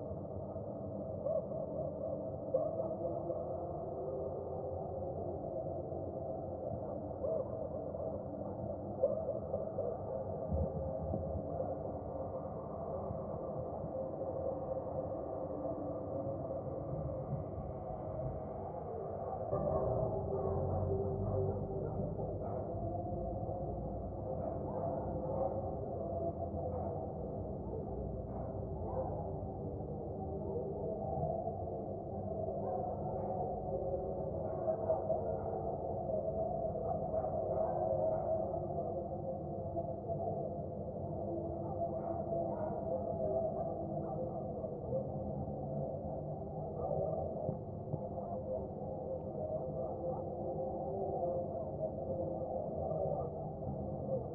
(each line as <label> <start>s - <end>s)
Echoes from midnight church mass 0.0s - 54.3s